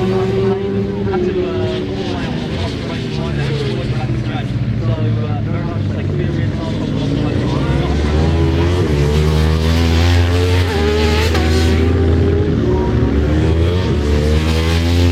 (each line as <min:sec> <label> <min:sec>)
0:00.0 Superbikes 0:15.1